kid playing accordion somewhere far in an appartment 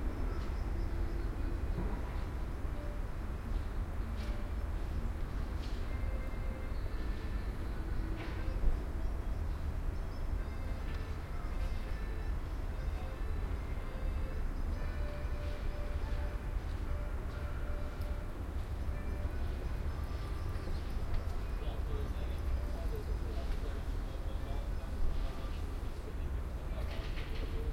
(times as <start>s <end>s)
10.3s 21.1s